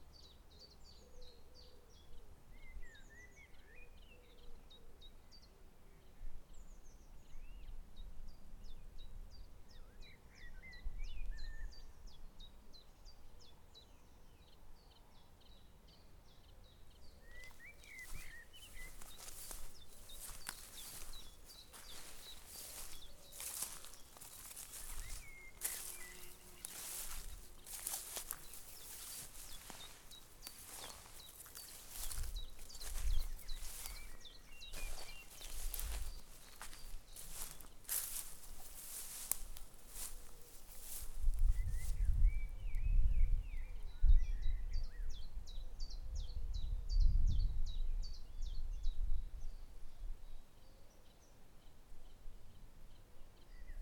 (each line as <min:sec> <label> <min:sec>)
0:00.0 birds 0:49.6
0:12.0 light breeze 0:43.8
0:17.2 Walking though dry grass 0:42.4